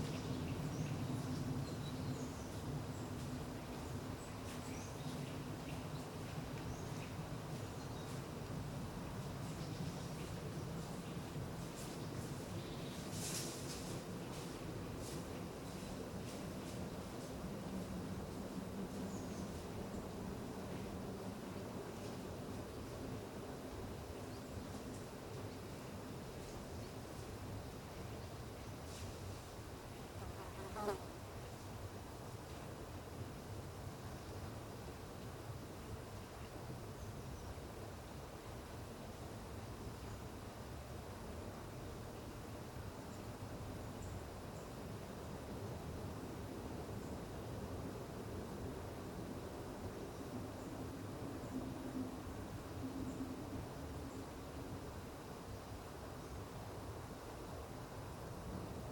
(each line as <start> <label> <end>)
13.0 train 23.6